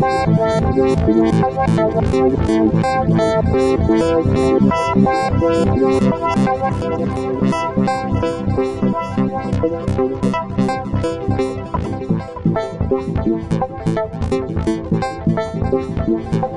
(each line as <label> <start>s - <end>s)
Synthesizer 0.0s - 16.5s